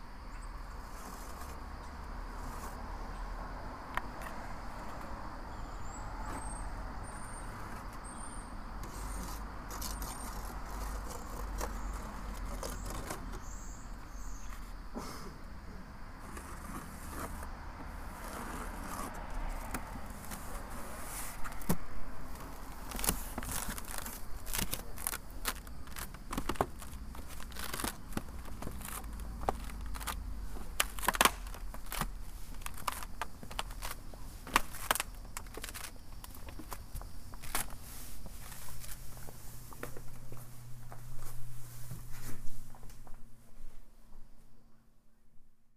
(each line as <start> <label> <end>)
0.0 Squirrels On My Roof 45.3